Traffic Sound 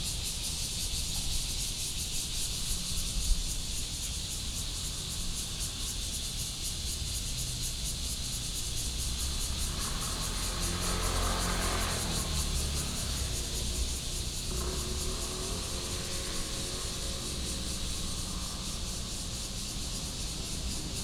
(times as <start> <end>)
4.6 21.0